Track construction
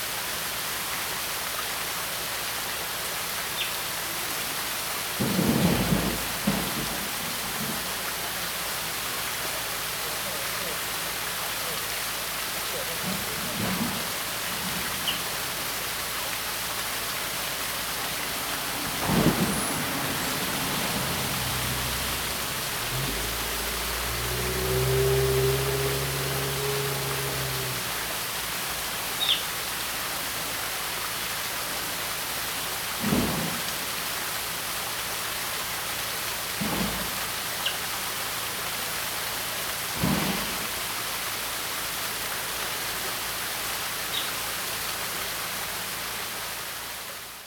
5.2s 29.4s, 36.5s 38.0s, 39.7s 41.1s

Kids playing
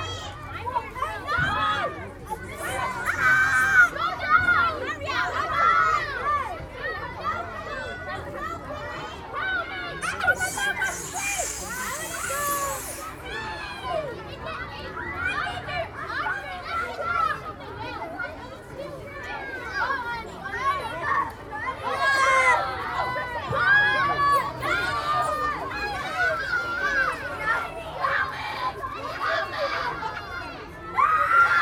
2.3s 4.0s, 10.0s 13.3s

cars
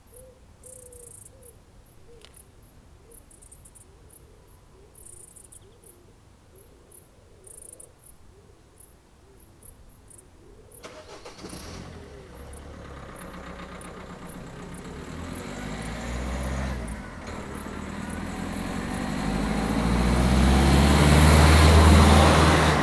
10.8s 22.8s

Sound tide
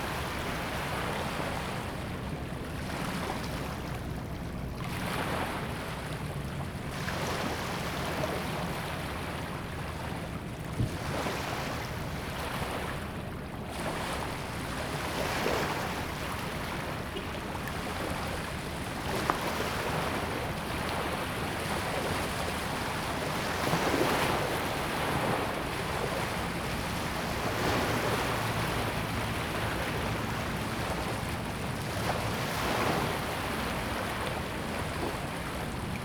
9.3s 36.0s

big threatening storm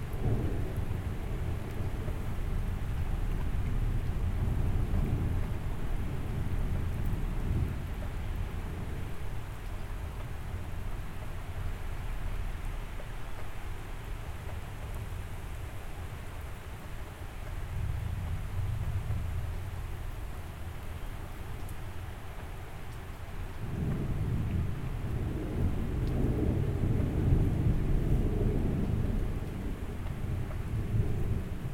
23.6s 31.7s

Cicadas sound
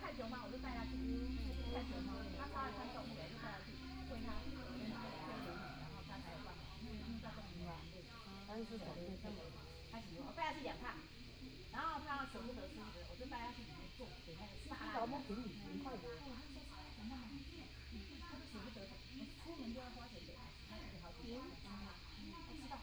0.0s 11.1s

